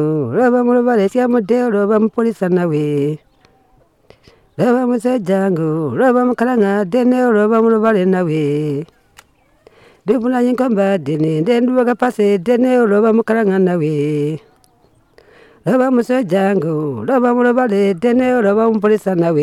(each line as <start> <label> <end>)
0.0 singing a lullaby for a boy 19.4